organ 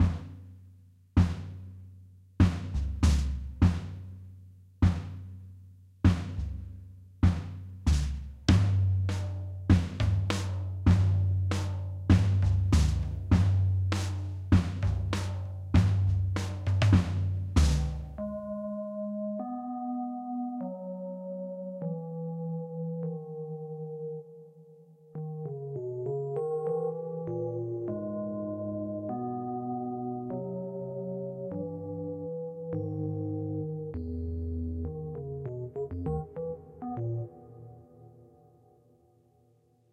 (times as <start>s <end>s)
18.2s 24.2s, 25.4s 37.7s